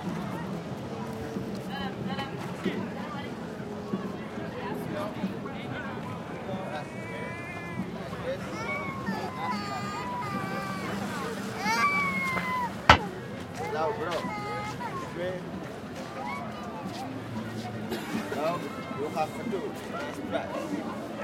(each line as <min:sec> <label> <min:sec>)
0:00.0 mopeds drive across the square 0:21.2
0:08.0 people talking or making business 0:16.0